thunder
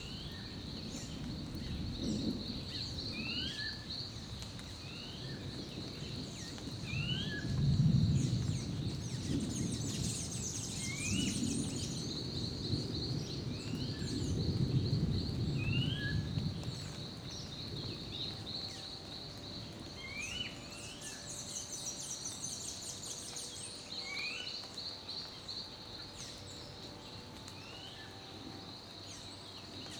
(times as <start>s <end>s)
0.0s 21.4s